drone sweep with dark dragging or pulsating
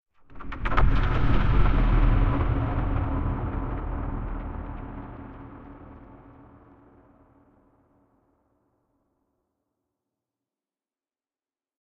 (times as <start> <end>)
0.6 6.7